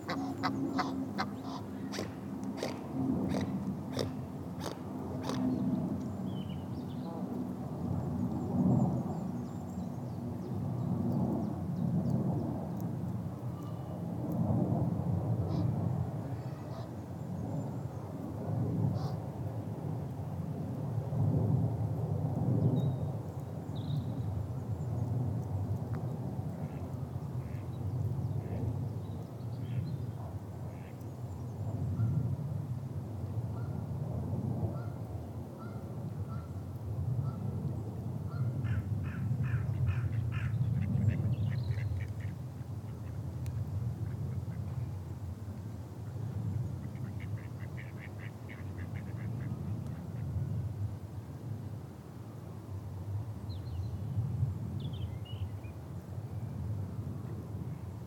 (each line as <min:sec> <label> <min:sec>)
0:00.0 Canada geese can be heard honking 0:02.7
0:00.0 a little wind 0:58.0
0:00.0 aeroplanes above 0:58.0
0:00.0 ducks quacking 0:05.4
0:00.8 snipping sound of their parents' chewing the grass 0:05.6
0:01.5 territorial swan grunting and hissing 0:05.4
0:46.8 ducks quacking 0:49.5
0:46.8 Canada geese can be heard honking 0:49.4